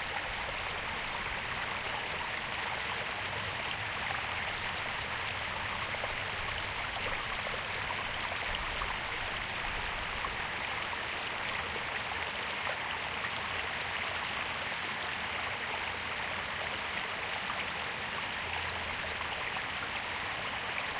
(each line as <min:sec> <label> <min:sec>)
0:00.0 Stream 0:20.9